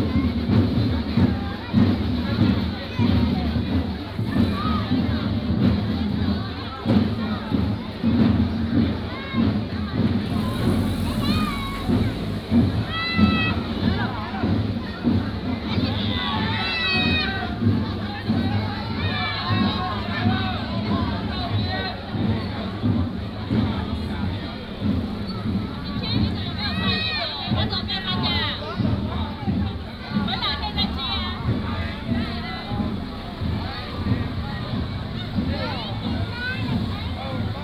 festival parade 0:00.0 - 0:37.6
walking in the Street 0:00.0 - 0:37.6

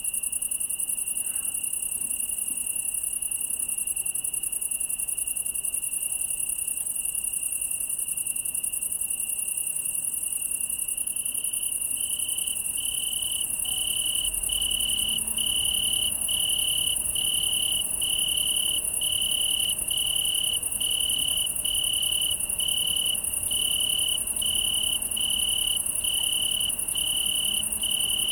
Italian tree cricket (Oecanthus pellucens) 0:00.0 - 0:28.3
hum is coming from the highway bellow 0:13.3 - 0:28.3

